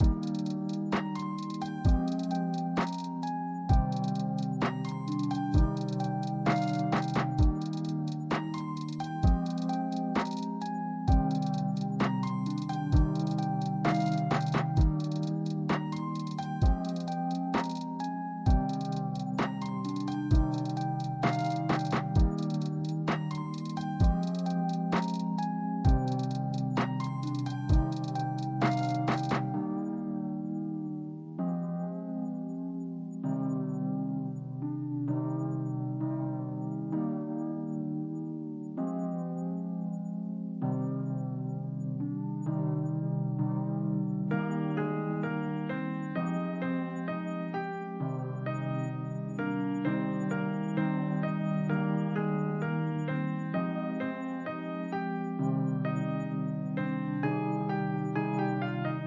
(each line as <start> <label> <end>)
0.0 drum loop 29.5